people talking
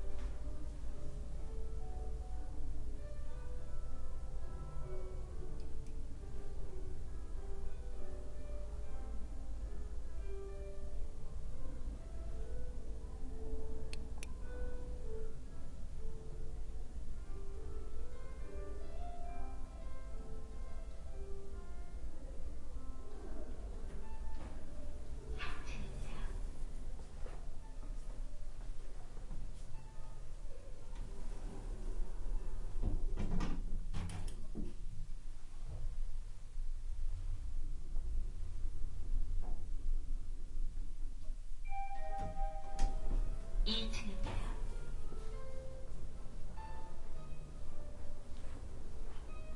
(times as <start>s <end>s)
43.7s 44.7s